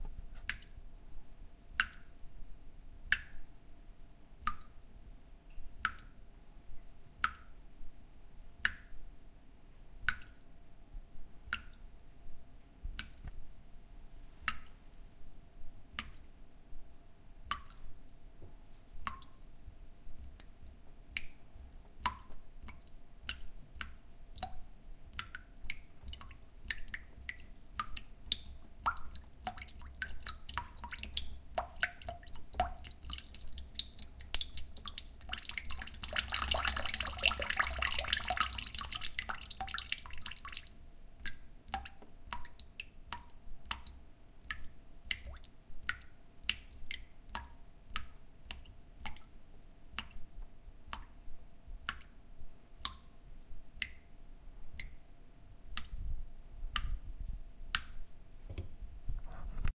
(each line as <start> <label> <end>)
27.8 waterdrops falling into a glass 43.9